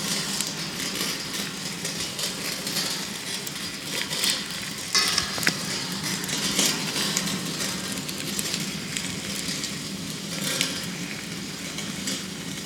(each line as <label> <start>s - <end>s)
wind 0.0s - 12.6s